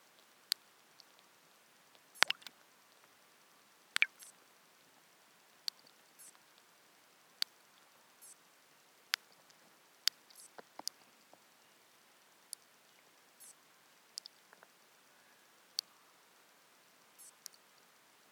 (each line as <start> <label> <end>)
2.2 water drops falling down into the pond 2.5